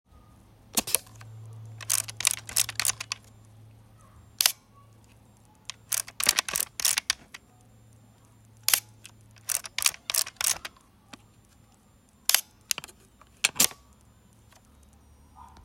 shutter click 0:00.7 - 0:03.3
shutter click 0:04.4 - 0:04.6
shutter click 0:05.7 - 0:07.4
shutter click 0:08.6 - 0:10.8
shutter click 0:12.3 - 0:13.9

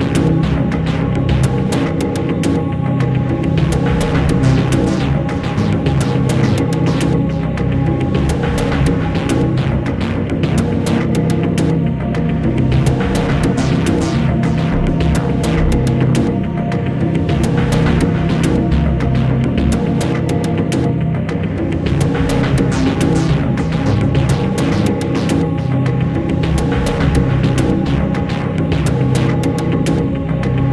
action game music 0:12.6 - 0:20.2

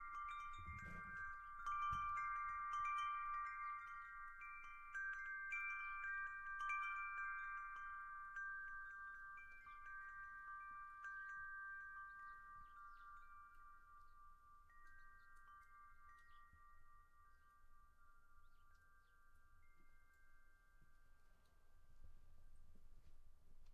wind chimes 0:00.0 - 0:23.7

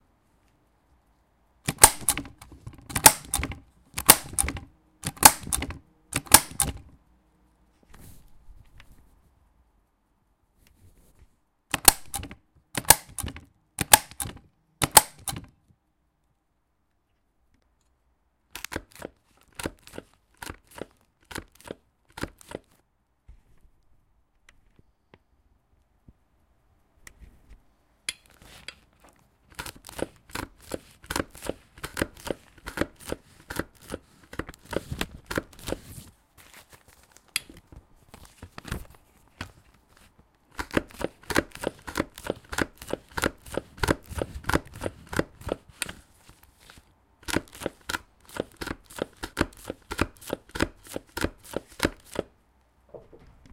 puncher 0:01.7 - 0:06.9
stapler 0:01.7 - 0:06.9
puncher 0:11.7 - 0:15.5
stapler 0:11.7 - 0:15.5

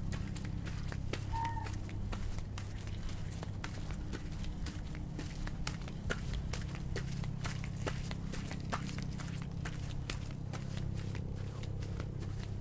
Swan Waddle Gravel to Grass to Swim 0:00.0 - 0:12.6
air traffic 0:00.0 - 0:12.6
swan making noises 0:01.3 - 0:01.7

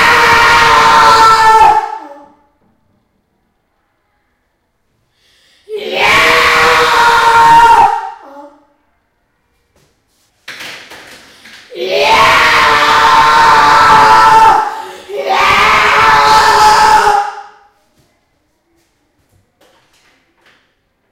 scream 0:00.0 - 0:02.4
scream 0:05.6 - 0:08.7
scream 0:11.6 - 0:17.7

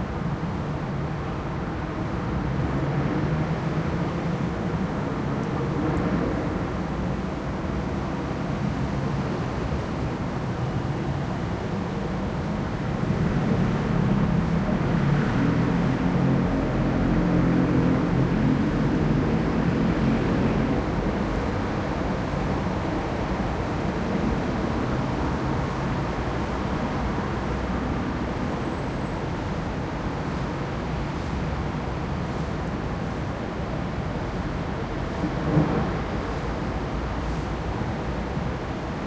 traffic 0:00.0 - 0:39.0
tram 0:00.0 - 0:39.0

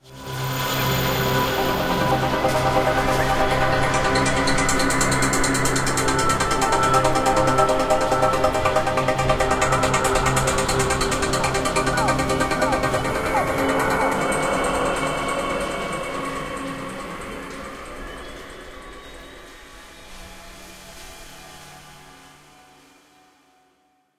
vocal 0:09.2 - 0:18.2

